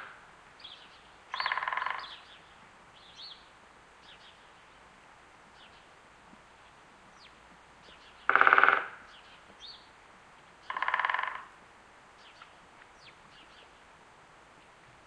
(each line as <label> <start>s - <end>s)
Woodpeckers Pecking 1.3s - 2.2s
Woodpeckers Pecking 8.2s - 9.6s
Woodpeckers Pecking 10.6s - 11.5s